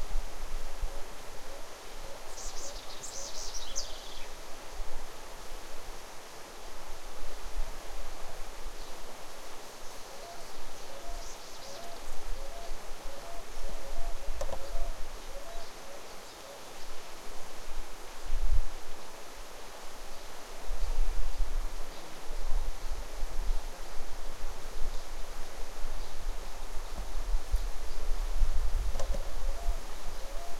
River 0:00.0 - 0:30.5
leaves 0:00.0 - 0:30.5
birds 0:01.5 - 0:04.4
birds 0:09.8 - 0:17.1
birds 0:28.9 - 0:30.5

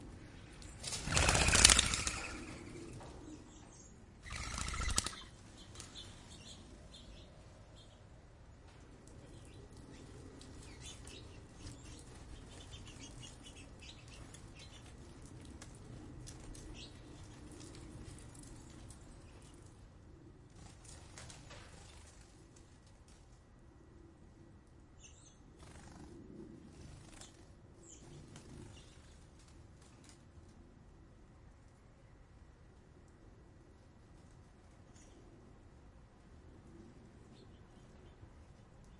Wing flaps doves fly away 0:00.8 - 0:03.2
Wing flaps doves fly away 0:04.2 - 0:05.3

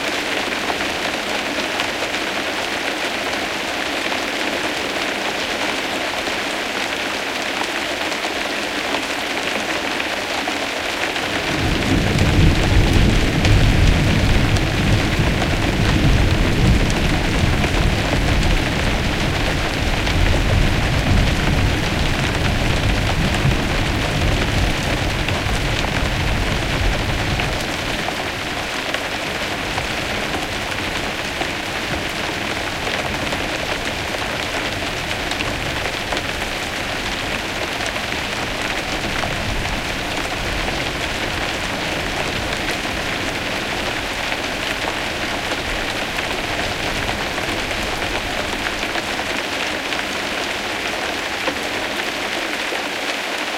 Moderate rain 0:00.0 - 0:53.5
thunder 0:11.4 - 0:27.9

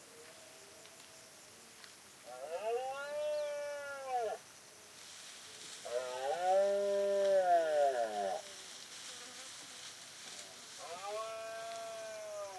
crickets 0:00.0 - 0:12.5
roaring of male Red-deer 0:02.3 - 0:04.4
deers walking across dry vegetation 0:04.7 - 0:12.5
roaring of male Red-deer 0:05.8 - 0:08.4

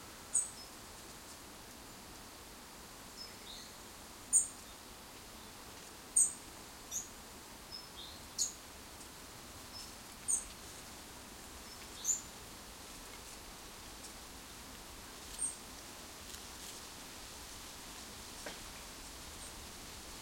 dry leaves rustling in a tree 0:08.0 - 0:20.2

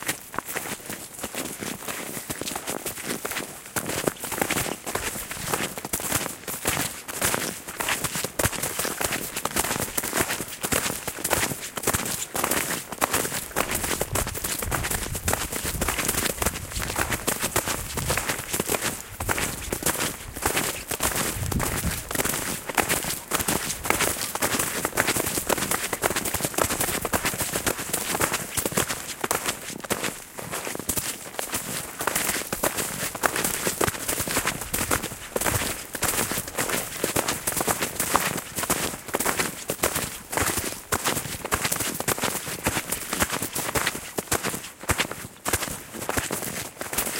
Two people snowshoeing on hard packed snow 0:00.0 - 0:47.1
intermediate wind sound 0:14.0 - 0:22.7

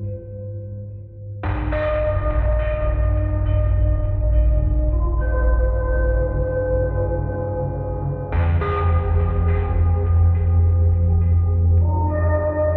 drums 0:01.5 - 0:06.5
drums 0:08.4 - 0:11.9

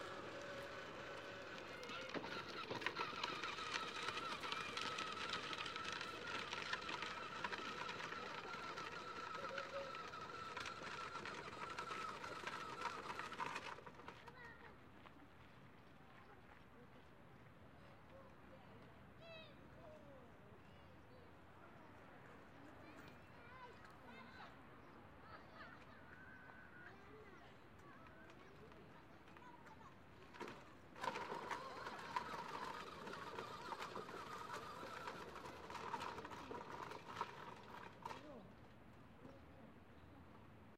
boy on tricycle passing by 0:00.0 - 0:16.8
Family with children passes by 0:00.0 - 0:17.1
boy on tricycle passing by 0:22.0 - 0:40.3

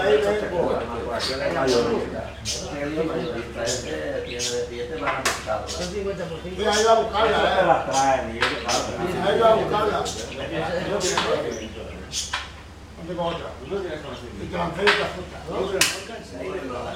chatting 0:00.0 - 0:16.9

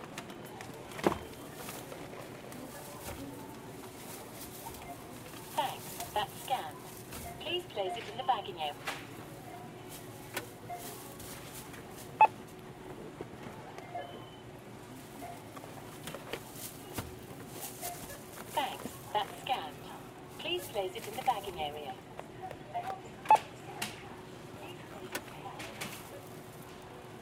Scanning groceries at a supermarket self-service checkout 0:00.0 - 0:27.2

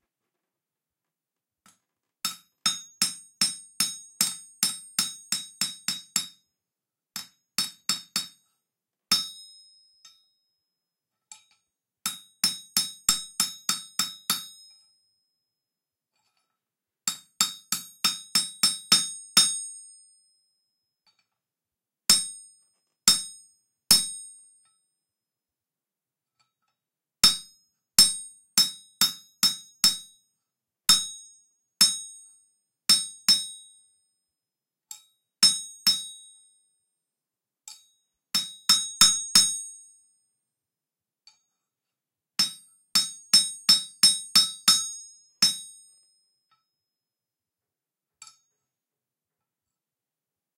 Shaping and flattening a knife blade with a steel hammer 0:01.6 - 0:06.5
Shaping and flattening a knife blade with a steel hammer 0:07.2 - 0:15.4
Shaping and flattening a knife blade with a steel hammer 0:16.1 - 0:21.5
Shaping and flattening a knife blade with a steel hammer 0:22.1 - 0:24.9
Shaping and flattening a knife blade with a steel hammer 0:26.3 - 0:34.1
Shaping and flattening a knife blade with a steel hammer 0:34.9 - 0:36.8
Shaping and flattening a knife blade with a steel hammer 0:37.6 - 0:40.3
Shaping and flattening a knife blade with a steel hammer 0:41.2 - 0:46.8
Shaping and flattening a knife blade with a steel hammer 0:48.2 - 0:48.8

